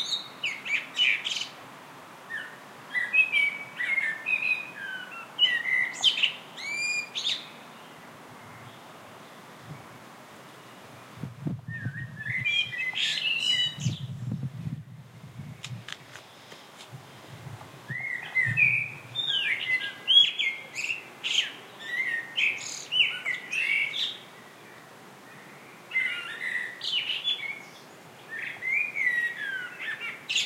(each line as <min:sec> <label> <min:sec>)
0:00.0 birdsong 0:01.6
0:02.3 birdsong 0:14.6
0:15.3 movement noise 0:17.9
0:15.4 birdsong 0:30.4